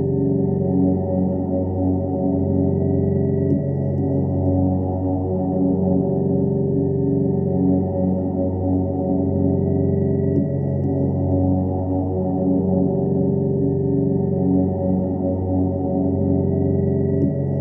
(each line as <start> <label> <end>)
0.0 drone 17.6